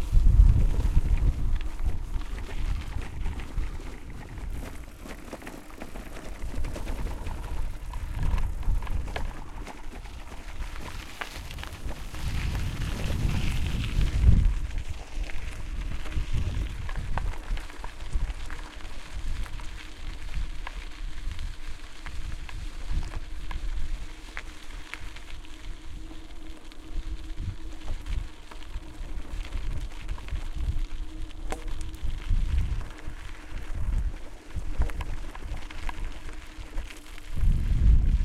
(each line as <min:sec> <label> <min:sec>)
0:00.0 Driving a MTB on a road 0:38.2
0:00.0 wind noise 0:38.2